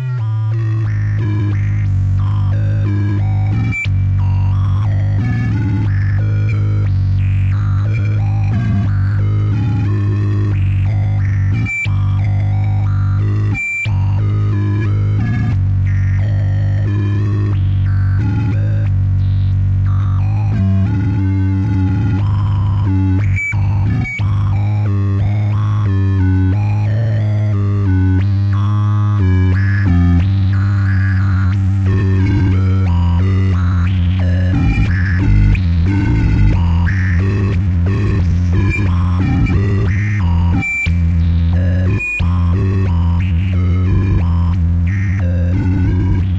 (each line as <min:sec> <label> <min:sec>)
0:00.0 feedback loop 0:46.3